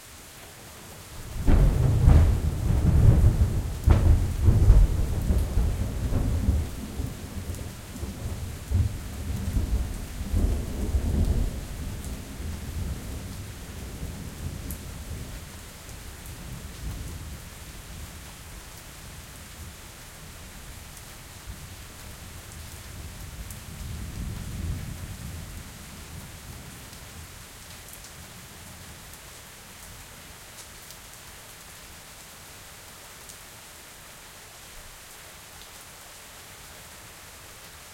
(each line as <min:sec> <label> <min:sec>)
0:00.0 medium rain 0:37.9
0:01.2 thunder long tail 0:15.3